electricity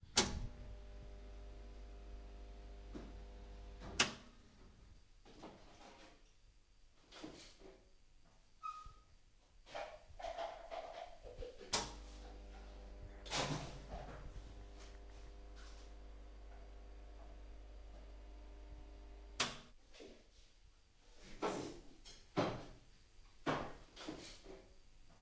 0:11.7 0:19.7

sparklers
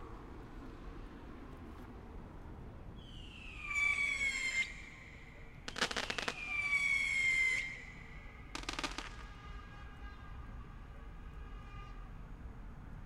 0:05.7 0:06.8, 0:08.5 0:09.3

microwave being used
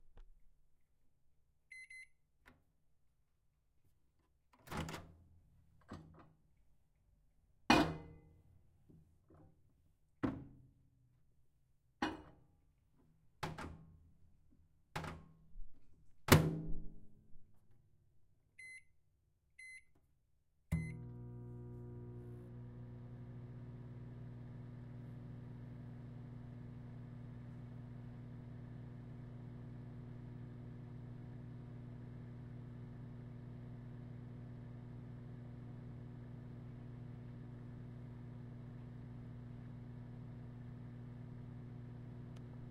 0:20.7 0:42.7

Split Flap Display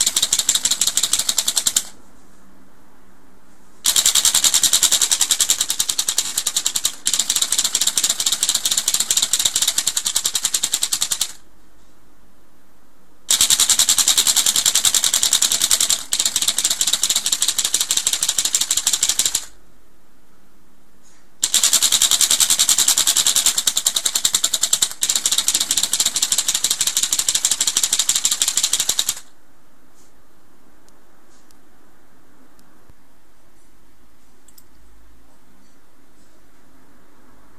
0:00.0 0:02.2

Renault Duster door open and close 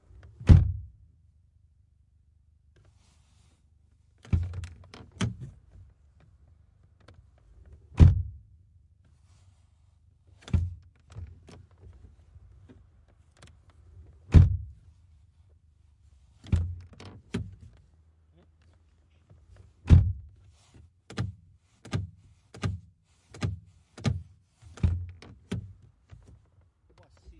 0:00.3 0:00.8, 0:04.2 0:05.9, 0:07.0 0:08.4, 0:10.4 0:12.0, 0:12.6 0:14.8, 0:16.4 0:17.8, 0:19.7 0:20.4, 0:21.1 0:26.6

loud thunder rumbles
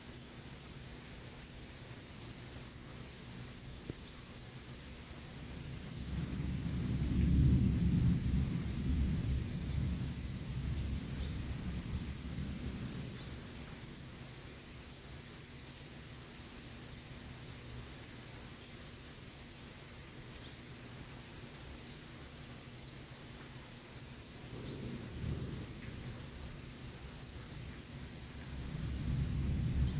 0:05.6 0:13.2, 0:24.5 0:26.2, 0:28.5 0:29.9

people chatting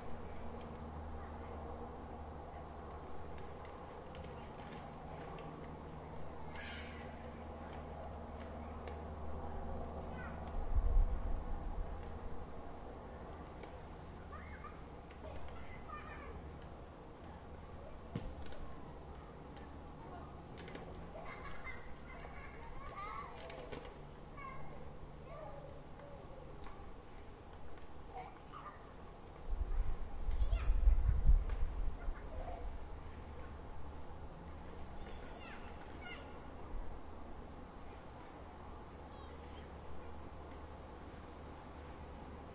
0:14.1 0:16.4, 0:17.2 0:20.5, 0:32.0 0:32.8, 0:35.0 0:36.4

